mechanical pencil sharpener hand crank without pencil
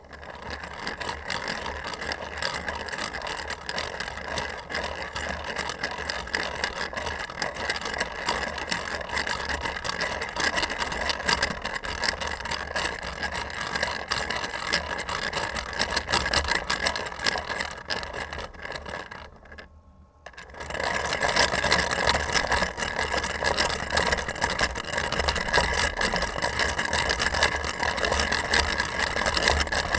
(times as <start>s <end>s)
20.3s 29.9s